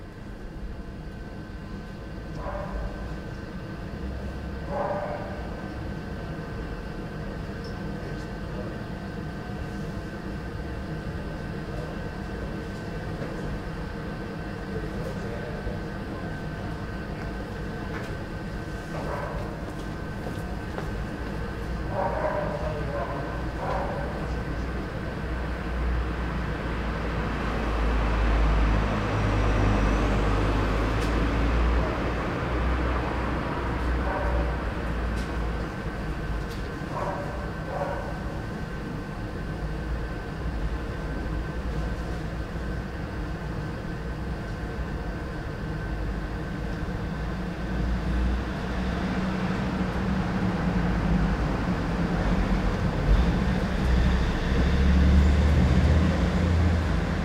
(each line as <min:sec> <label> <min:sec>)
0:02.4 distant barking 0:03.2
0:04.6 distant barking 0:05.6
0:21.8 distant barking 0:24.4
0:34.0 distant barking 0:34.8
0:36.9 distant barking 0:38.5